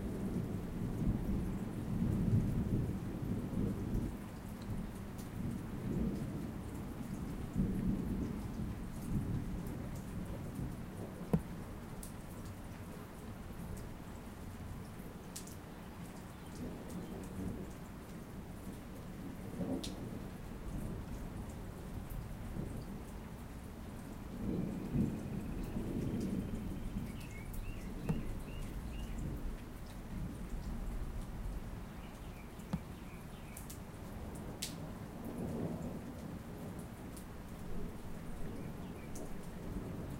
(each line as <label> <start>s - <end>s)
rain 0.0s - 40.1s
thunder 24.4s - 27.1s